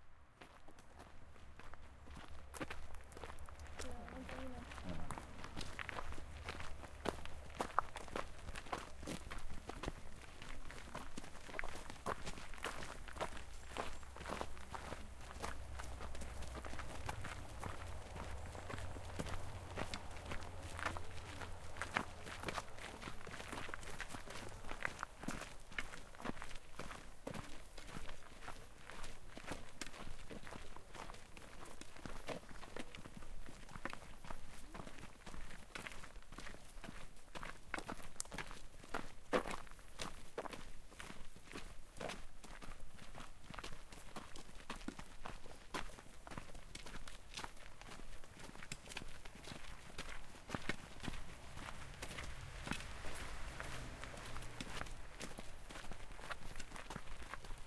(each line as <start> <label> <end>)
0.4 footsteps 31.2
3.8 girl saying 5.2
14.0 cars passing by 25.2
45.8 footsteps 57.6
50.3 cars passing by 57.1